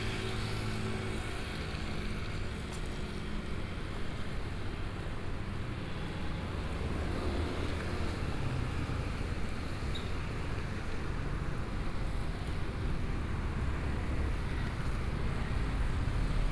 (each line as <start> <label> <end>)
0.0 Traffic Noise 16.5
0.0 walking in the Street 16.5